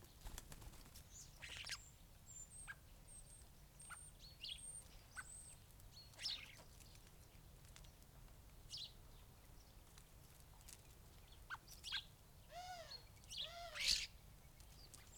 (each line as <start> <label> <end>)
0.0 background noise 15.1
1.0 blackbird 7.0
1.0 starlings on bird feeders 7.5
1.1 greenfinch 2.8
11.0 starlings on bird feeders 15.1
11.3 blackbird 15.1
12.5 calls from collared dove 14.1